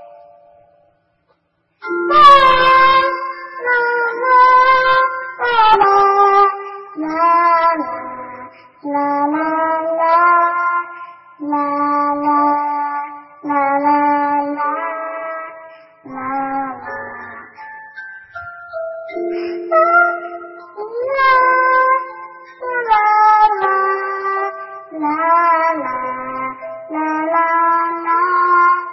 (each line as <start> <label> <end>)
1.8 singing 17.7